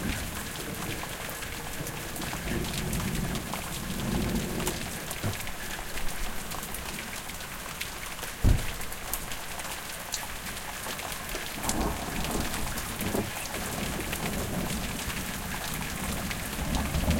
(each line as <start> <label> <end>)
0.0 rain 17.1
11.6 thunder 17.1